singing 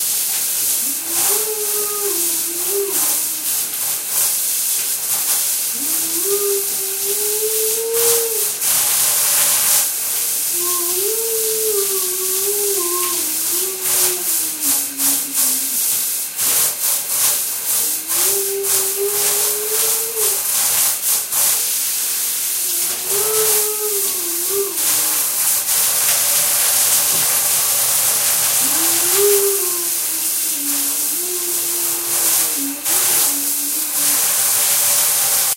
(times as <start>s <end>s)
10.5s 15.8s